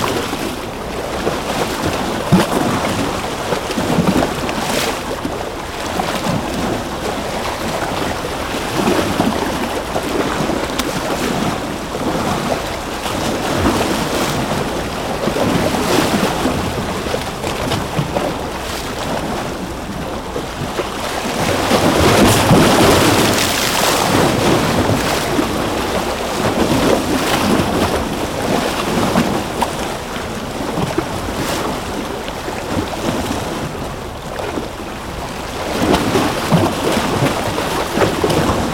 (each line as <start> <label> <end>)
0.0 Waves crashing on some concrete rocks 38.7